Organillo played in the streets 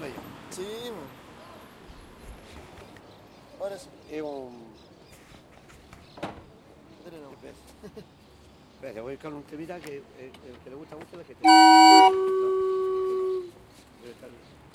11.4s 13.8s

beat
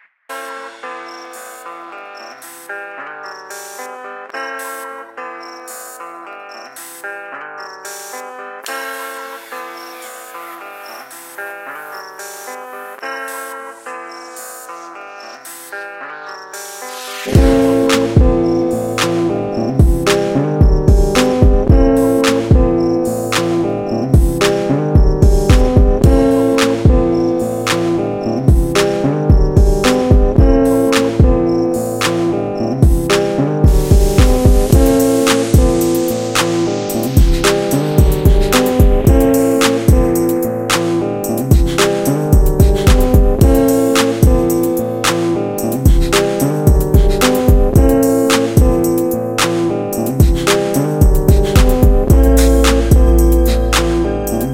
17.3s 22.8s, 24.2s 31.4s, 32.8s 49.5s, 50.1s 54.5s

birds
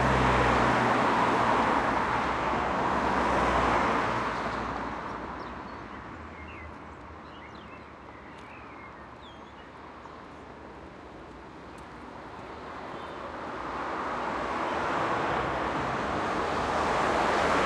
4.3s 10.4s

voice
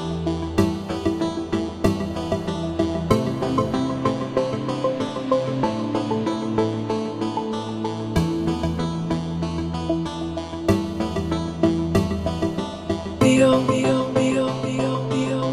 13.2s 15.5s

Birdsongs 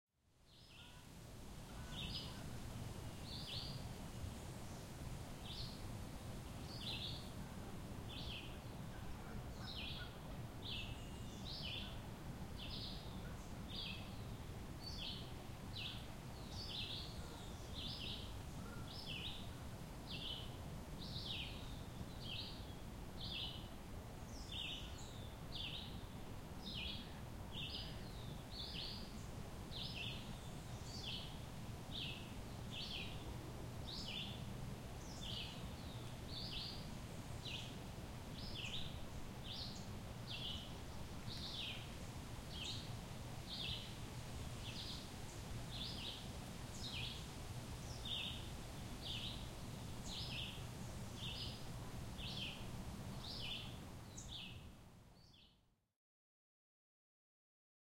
1.7s 2.6s, 38.4s 54.6s

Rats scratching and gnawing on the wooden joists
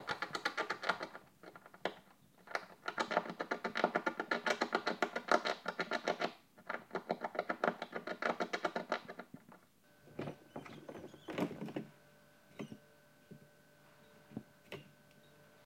0.0s 9.6s, 10.2s 11.8s

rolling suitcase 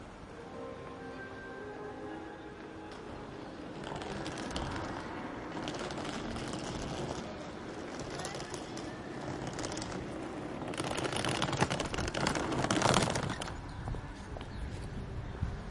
2.9s 14.5s

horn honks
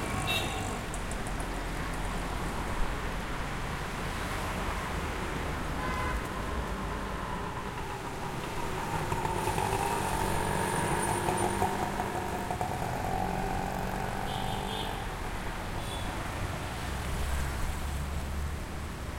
14.2s 15.0s

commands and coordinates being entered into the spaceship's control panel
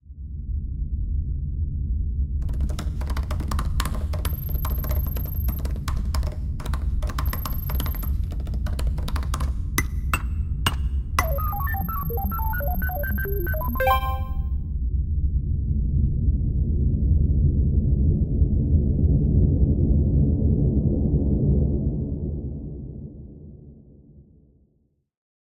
2.4s 14.6s

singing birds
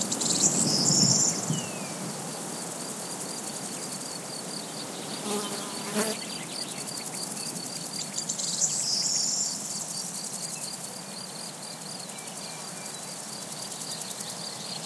0.0s 2.0s

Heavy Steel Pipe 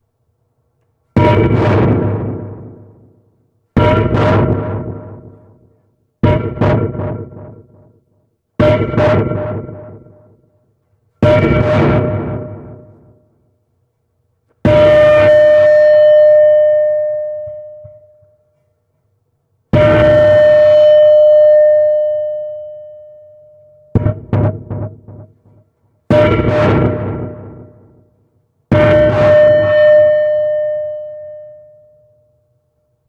1.1s 7.3s, 11.1s 13.3s, 28.7s 31.4s

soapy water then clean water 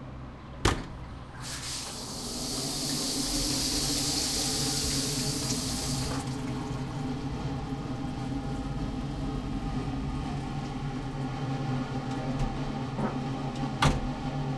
1.4s 6.8s

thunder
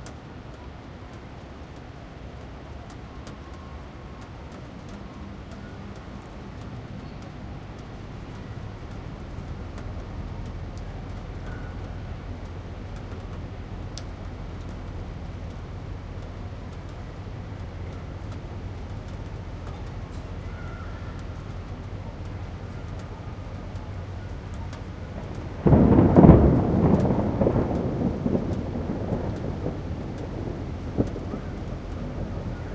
25.2s 32.7s

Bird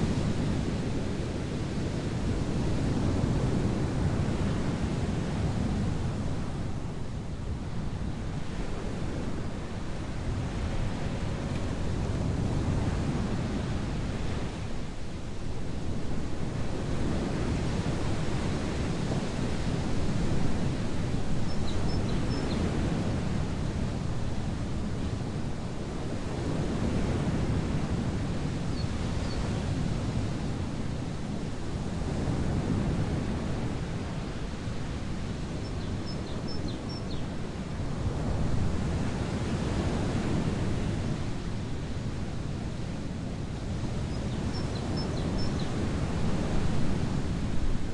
21.5s 22.6s, 35.6s 37.2s, 44.1s 45.7s

